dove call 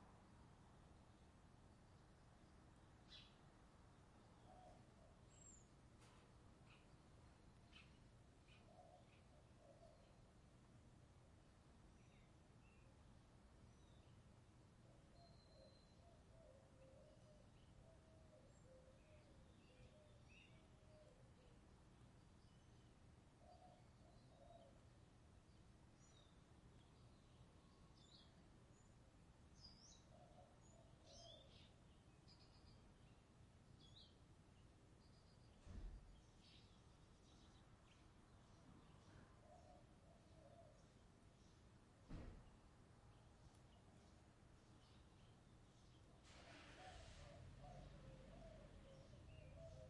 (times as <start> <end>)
46.3 49.8